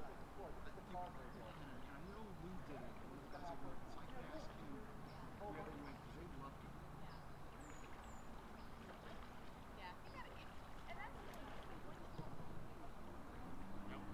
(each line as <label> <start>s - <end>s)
canoos passing by 0.0s - 14.1s